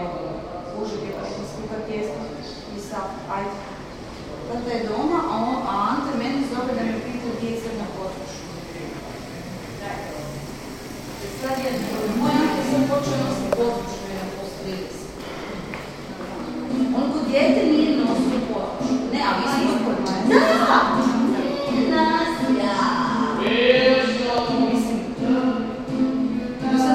two women talking 0:04.5 - 0:08.4
two women talking 0:11.2 - 0:15.2
two women talking 0:16.3 - 0:25.8
young guy playing and singing 0:18.8 - 0:26.9

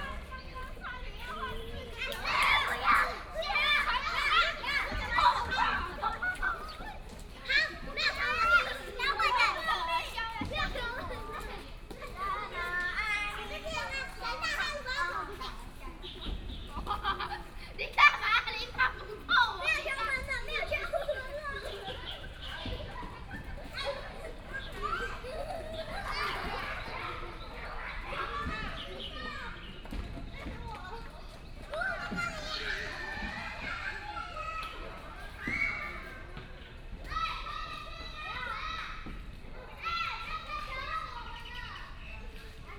Children 0:00.0 - 0:42.7

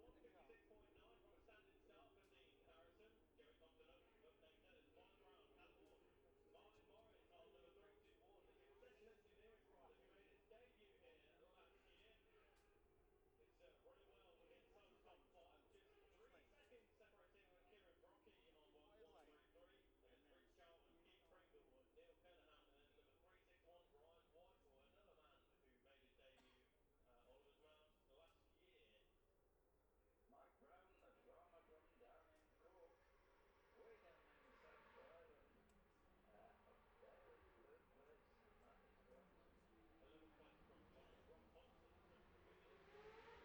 road racing 0:32.9 - 0:43.4

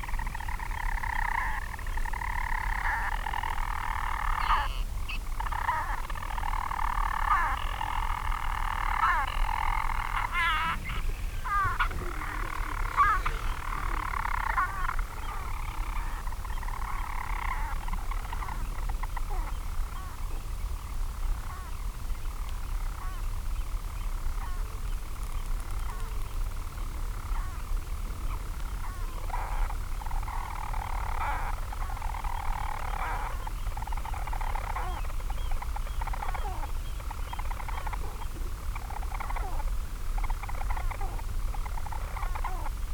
storm petrel singing 0:09.8 - 0:16.2

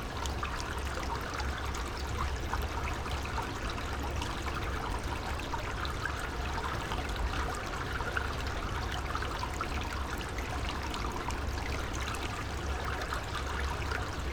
water flowing from a culvert 0:00.0 - 0:14.3

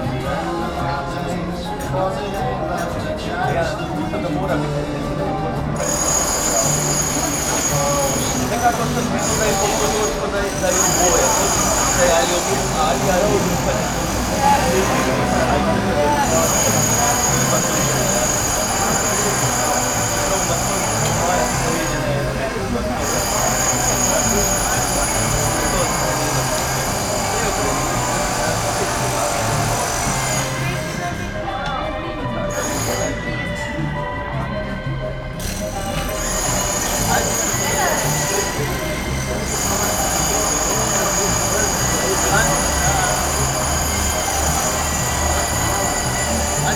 construction works all around 0:00.0 - 0:46.7

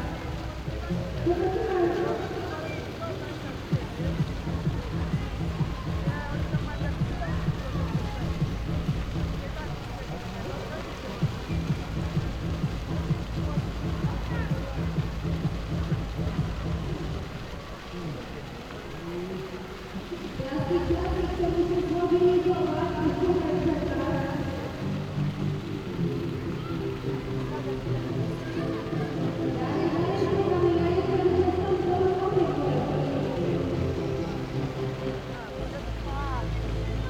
bouncy castle 0:00.0 - 0:18.8
echoes 0:00.0 - 0:37.0
kids party with amplifier 0:03.7 - 0:09.6

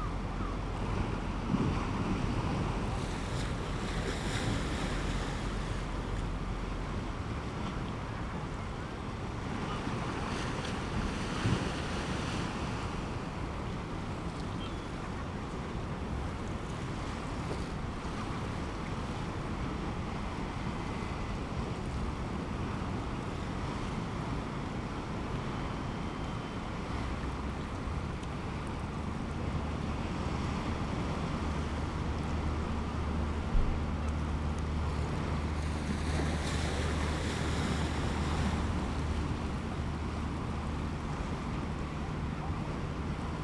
fishing boats leaving and entering the harbour 0:00.0 - 0:43.4
waves 0:00.0 - 0:43.4

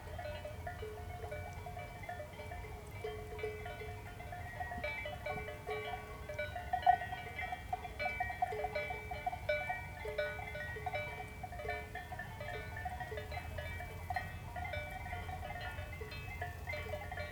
distant cow bells 0:00.0 - 0:17.3

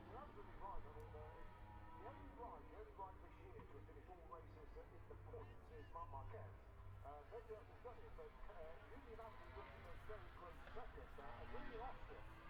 motorcycle grand prix 0:00.0 - 0:03.0
motorcycle grand prix 0:09.1 - 0:12.4

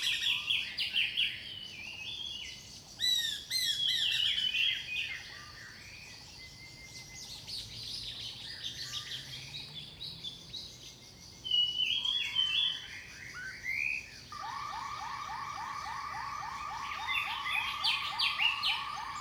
Birds singing 0:14.4 - 0:19.2

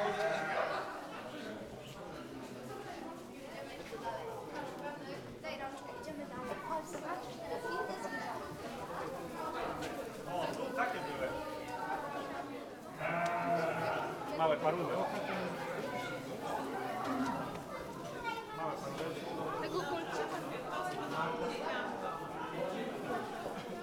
visitors walk and talk 0:00.0 - 0:23.8
goats 0:00.0 - 0:00.9
goats 0:13.0 - 0:14.2

